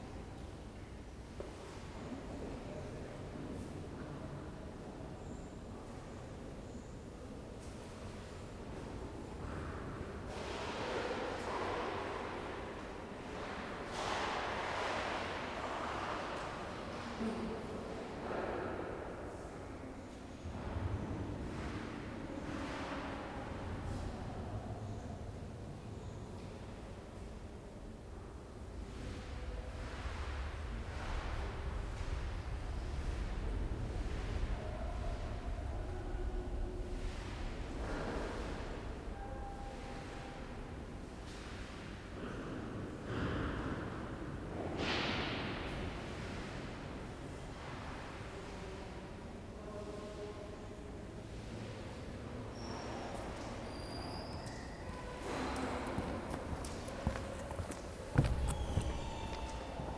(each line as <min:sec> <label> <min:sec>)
0:52.2 visitors talking and milling around 0:59.9